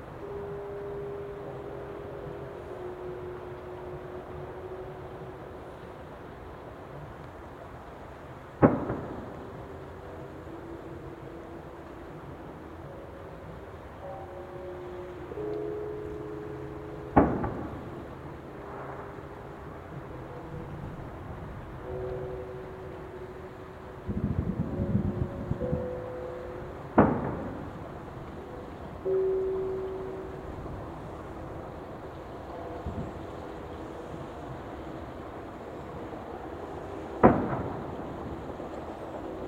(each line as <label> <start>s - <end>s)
traffic 0.0s - 39.4s
trains 0.0s - 39.4s
firecracker 8.5s - 10.3s
fireworks 8.6s - 10.0s
temple bells 8.9s - 38.0s
fireworks 17.1s - 19.2s
firecracker 17.1s - 20.8s
firecracker 26.8s - 28.5s
fireworks 26.9s - 28.4s
firecracker 36.8s - 39.4s
fireworks 37.0s - 39.4s